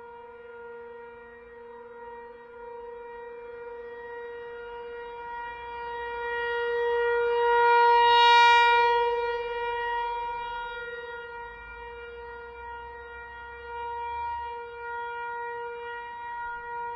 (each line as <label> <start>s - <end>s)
Warning siren from a distance 0.0s - 16.9s